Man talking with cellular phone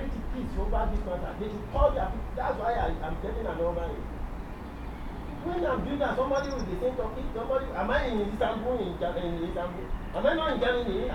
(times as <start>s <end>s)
5.4s 11.1s